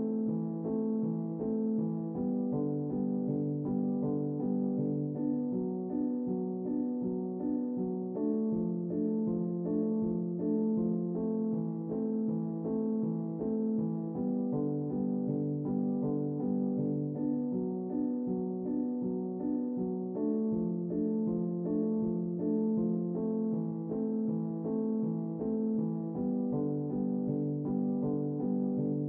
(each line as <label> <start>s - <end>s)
piano 0.0s - 29.0s